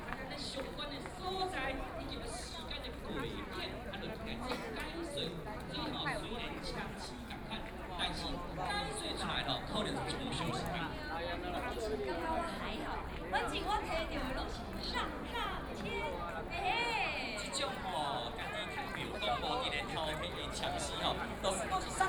Very many people in the park 0.0 - 22.0

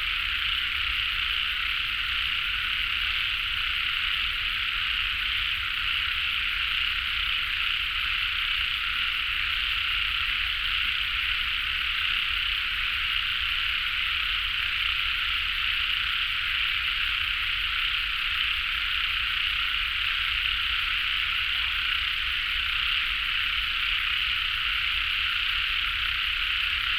Frogs sound 0.0 - 26.9

